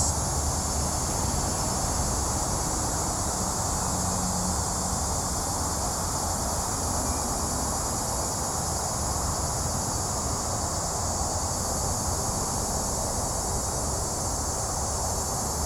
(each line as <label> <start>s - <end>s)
Cicada cry 0.0s - 1.8s